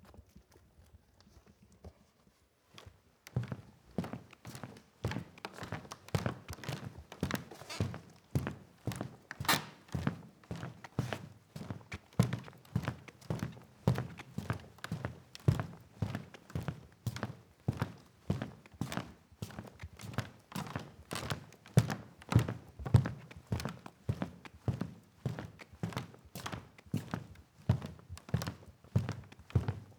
Footsteps on a wooden floor 3.4 - 10.7

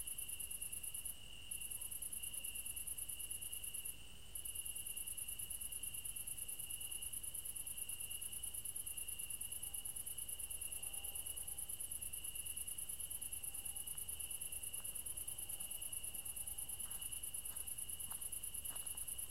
cricket 0.0 - 19.3

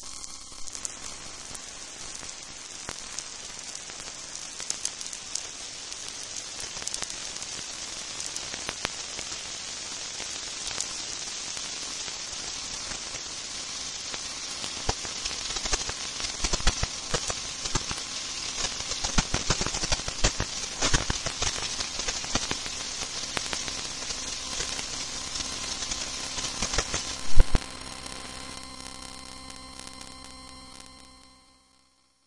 Soft, light clicks simulating rain 1.5 - 9.3
Soft, light clicks simulating rain 14.1 - 27.7

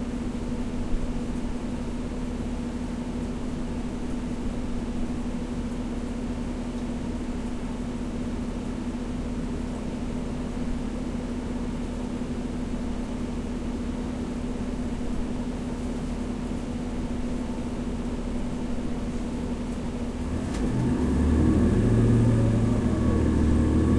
bus ride 0.2 - 23.9

